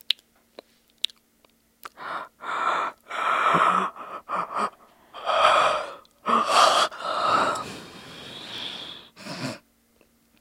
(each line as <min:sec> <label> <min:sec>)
0:01.8 different kinds of yawns 0:09.6